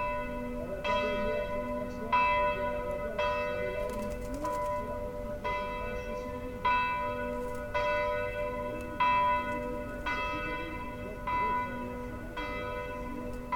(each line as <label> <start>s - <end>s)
bells striking twelve noon 0.0s - 13.5s